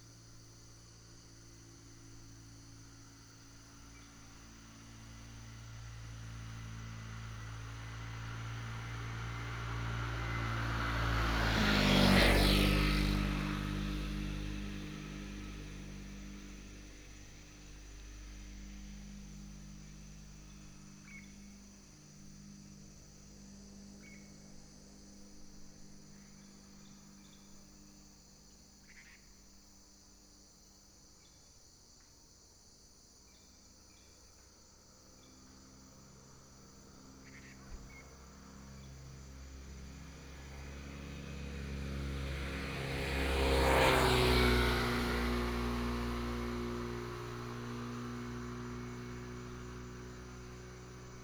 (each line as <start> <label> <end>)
0.0 motorcycle 32.2
33.2 motorcycle 51.2